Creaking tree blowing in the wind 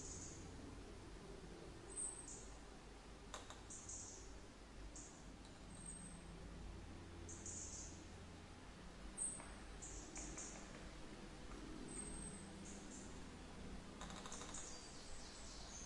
8.0 15.8

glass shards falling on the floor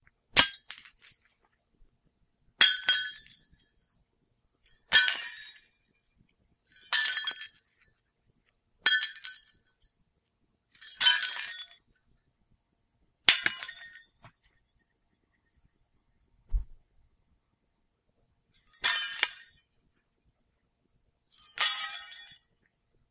13.3 14.0, 18.7 19.6, 21.4 22.4

